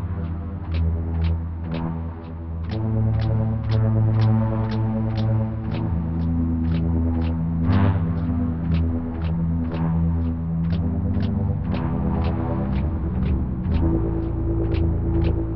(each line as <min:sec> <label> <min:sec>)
0:00.0 beat 0:15.5